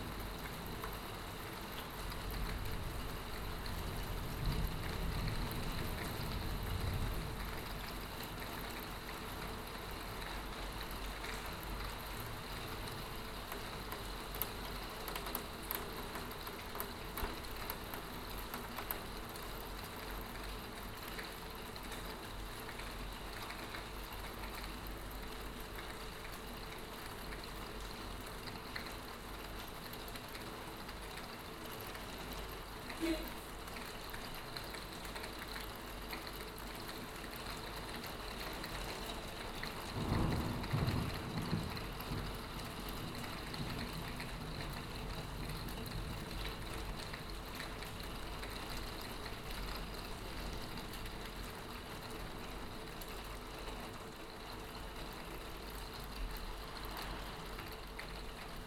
rain 0.0 - 58.6

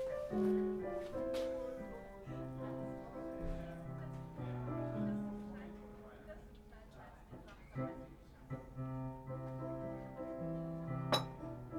tourists on the terrace of the restaurant 0.0 - 11.7

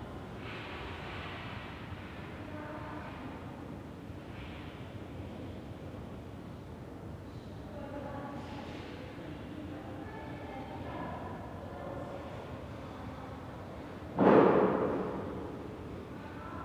group of children in a room nearby 0.0 - 16.6
people talking 7.7 - 13.5

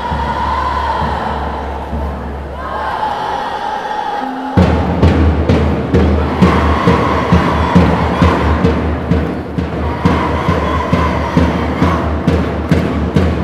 Extremely loud shoutings from scouts 0.0 - 4.8
Extremely loud shoutings from scouts 6.2 - 8.7
Extremely loud shoutings from scouts 9.8 - 12.3

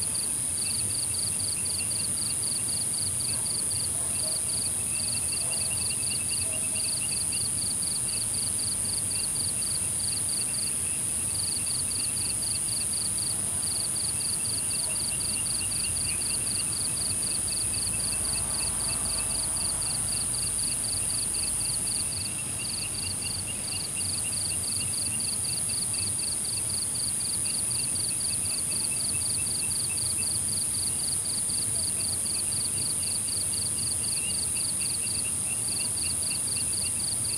insects 0.0 - 37.3

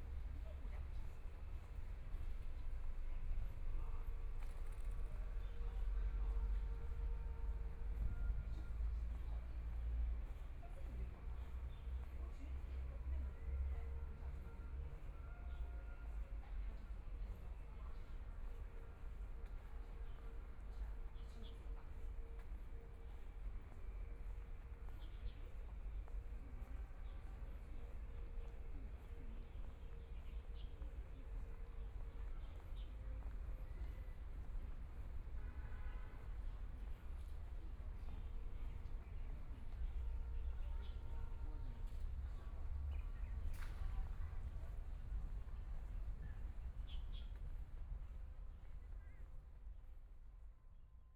Walking through the park 0.0 - 51.1

